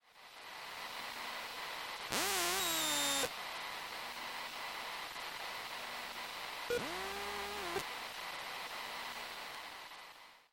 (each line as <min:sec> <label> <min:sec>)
0:02.1 electric current 0:03.3
0:06.7 electric current 0:07.8